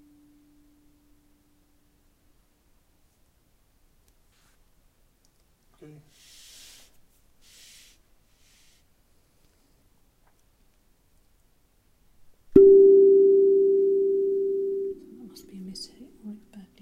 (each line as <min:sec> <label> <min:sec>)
0:12.6 Steel Tongue Drum 0:16.5